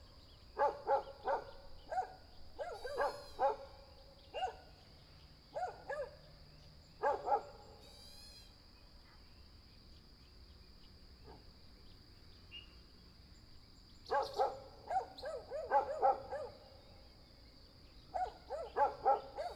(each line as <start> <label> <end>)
0.0 Bird sounds 8.0
0.6 Dogs barking 3.7
4.3 Dogs barking 4.6
5.6 Dogs barking 6.2
7.0 Dogs barking 7.7
13.4 Bird sounds 19.5
14.1 Dogs barking 16.7
18.1 Dogs barking 19.5